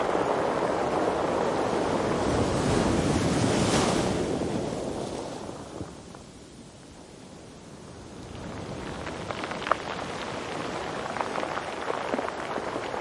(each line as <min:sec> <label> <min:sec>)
0:00.0 the bag and surf of the waves 0:13.0
0:08.4 stones roll under water 0:13.0